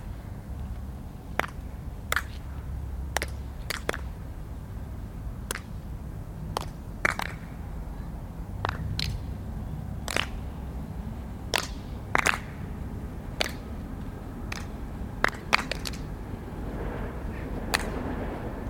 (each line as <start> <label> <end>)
1.3 clapping action 2.4
3.1 clapping action 4.1
5.5 clapping action 5.8
6.5 clapping action 7.5
8.6 clapping action 9.3
10.0 clapping action 10.5
11.5 clapping action 12.6
13.4 clapping action 13.7
14.5 clapping action 16.1
17.7 clapping action 18.0